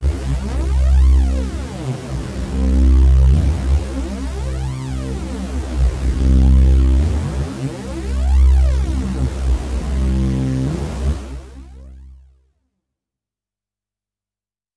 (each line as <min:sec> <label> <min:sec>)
0:00.0 hard lead sound with added harshness 0:11.8